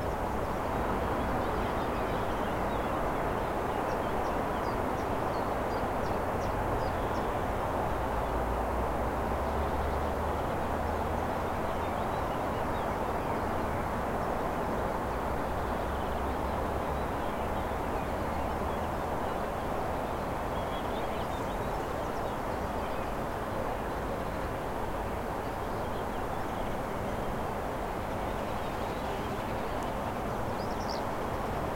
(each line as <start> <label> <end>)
0.0 Birds are singing 31.7
0.0 traffic 31.7